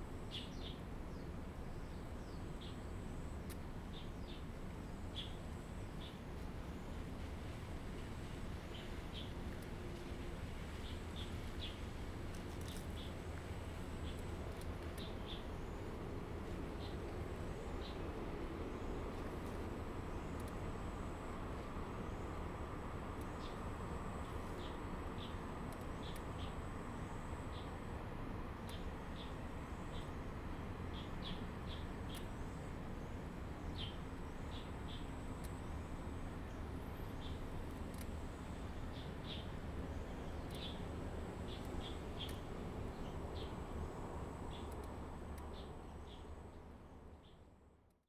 12.6s Cicadas sound 46.4s
30.9s Birdsong sound 35.8s
36.4s Birdsong sound 46.5s

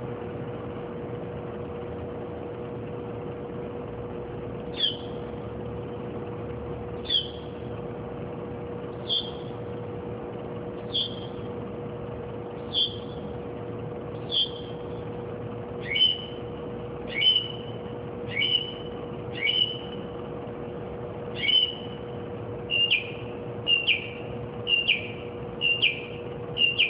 4.7s bird singing and chirping various car-alarm-like-songs 5.2s
7.0s bird singing and chirping various car-alarm-like-songs 7.5s
9.0s bird singing and chirping various car-alarm-like-songs 9.5s
10.9s bird singing and chirping various car-alarm-like-songs 11.4s
12.6s bird singing and chirping various car-alarm-like-songs 13.3s
14.2s bird singing and chirping various car-alarm-like-songs 14.8s
15.8s bird singing and chirping various car-alarm-like-songs 16.4s
17.1s bird singing and chirping various car-alarm-like-songs 20.0s
21.4s bird singing and chirping various car-alarm-like-songs 22.0s
22.7s bird singing and chirping various car-alarm-like-songs 26.8s

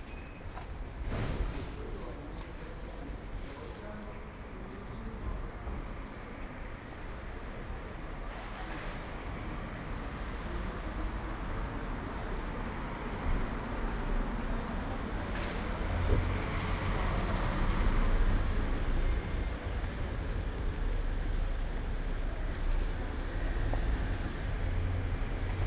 0.0s walking in the square market 25.6s

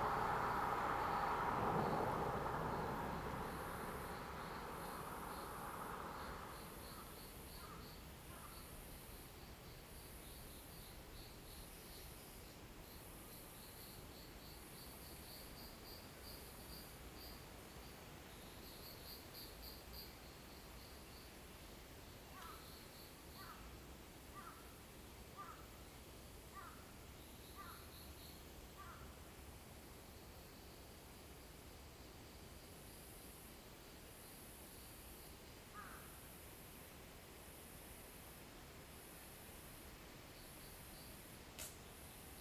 0.0s Traffic sound 7.4s

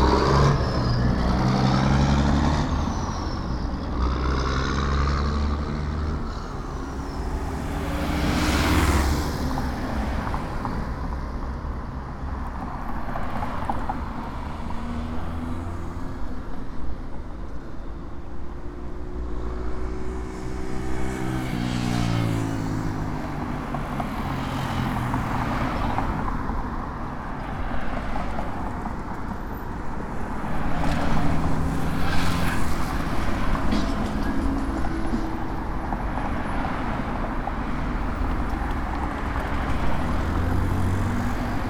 0.0s Traffic 41.6s

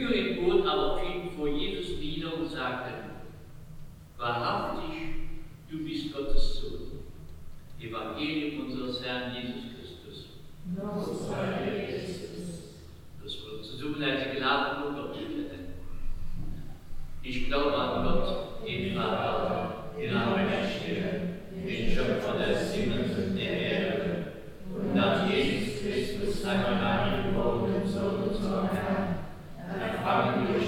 10.7s Vater unser Prayer 15.4s
17.2s Vater unser Prayer 30.6s

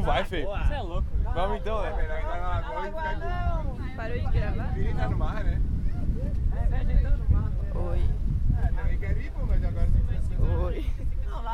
0.0s group of friends that were camping 11.5s

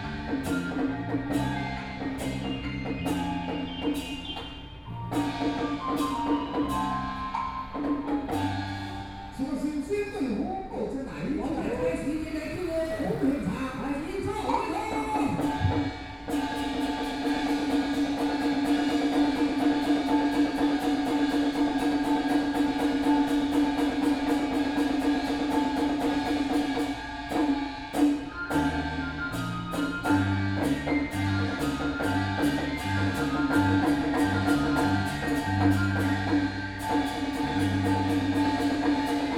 11.5s Traditional Taiwanese opera ceremony 39.3s

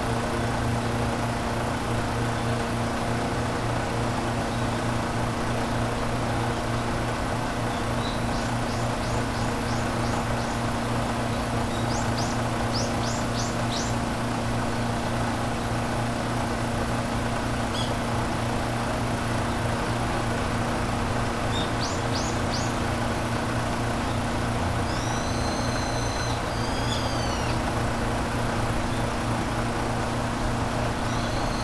0.2s water pump chugging away 31.6s
24.0s Birds trying to break through with their chirps 28.2s

